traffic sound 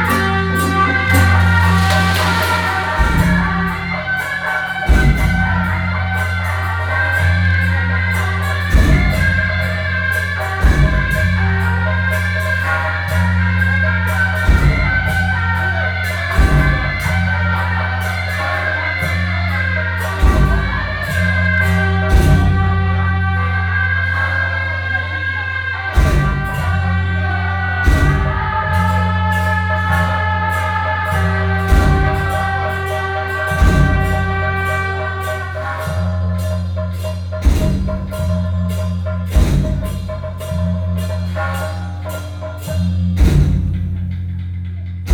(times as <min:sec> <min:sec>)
0:00.0 0:05.8